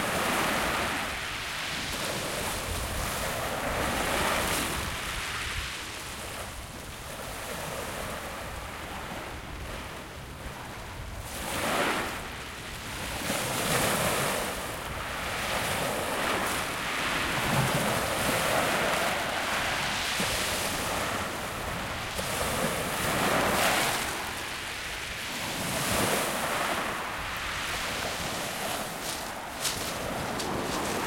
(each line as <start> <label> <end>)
13.0 Waves Real Shingle 31.0